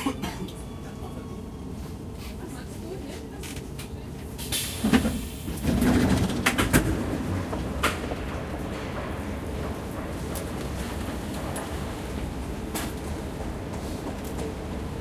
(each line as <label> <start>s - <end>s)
ride by Nuernberg U-bahn 0.0s - 15.0s